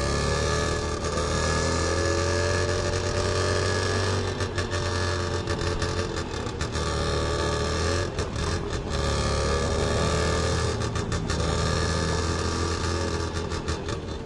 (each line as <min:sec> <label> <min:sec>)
0:00.0 traffic 0:14.2
0:00.0 tuk tuk motorcycle taxi 0:14.2